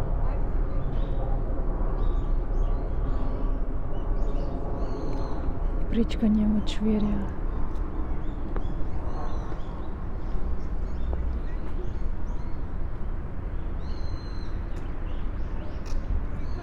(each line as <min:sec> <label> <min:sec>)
0:02.0 birds 0:16.6
0:07.4 walking over the red bridge 0:16.6